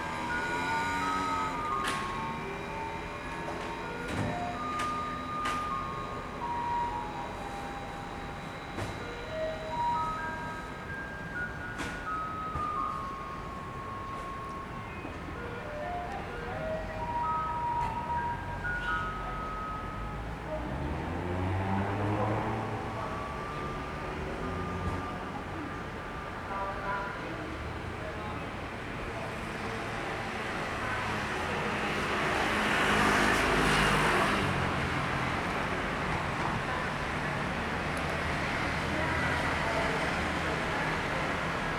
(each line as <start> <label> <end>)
0.0 Garbage truck arrived 41.7